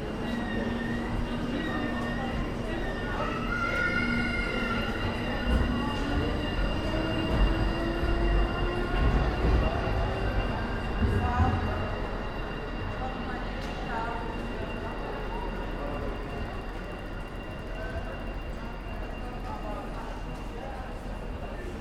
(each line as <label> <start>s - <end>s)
people 0.0s - 21.8s
Glides of tram wheels 0.0s - 21.8s